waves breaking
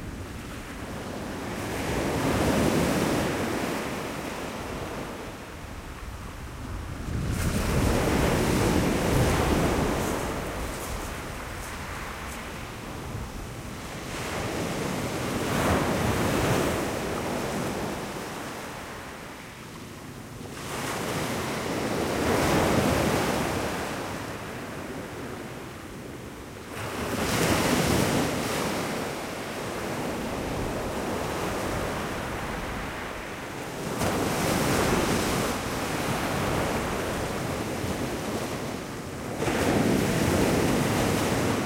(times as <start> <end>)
6.7 18.9